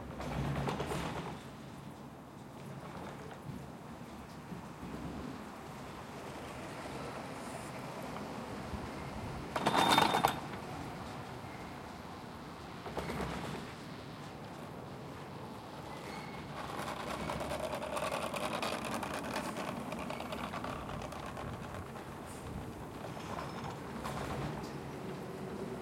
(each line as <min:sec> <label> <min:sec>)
0:02.4 cableway 0:25.8